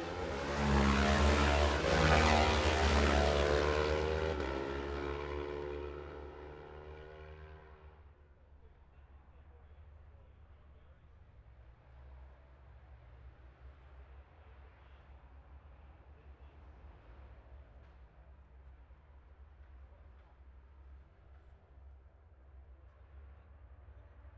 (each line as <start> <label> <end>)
0.0 road racing 8.0